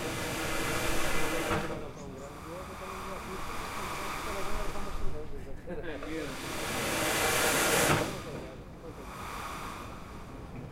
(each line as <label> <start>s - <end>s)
waves 0.0s - 5.4s
people talking portuguese 1.4s - 6.5s
waves 6.0s - 10.7s